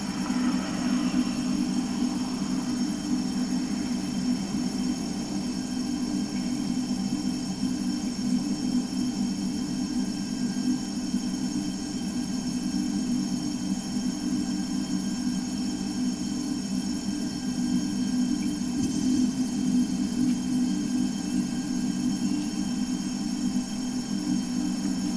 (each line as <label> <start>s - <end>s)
background traffic sounds 0.0s - 5.4s
humming gasbox 0.0s - 7.4s